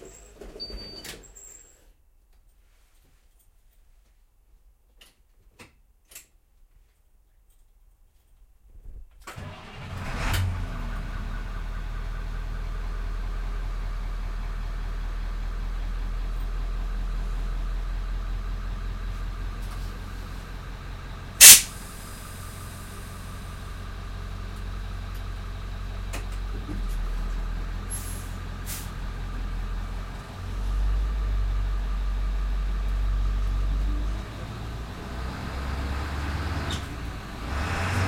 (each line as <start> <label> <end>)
9.3 school bus truck int start 38.0
21.4 stop air release 23.0
27.9 stop air release 29.0